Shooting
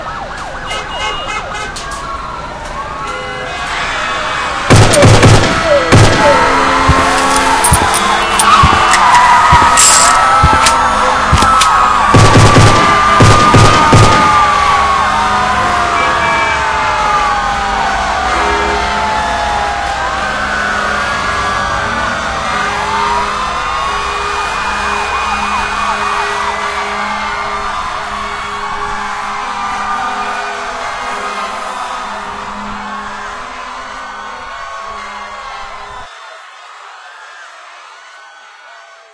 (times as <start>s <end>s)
4.7s 9.0s, 9.6s 14.5s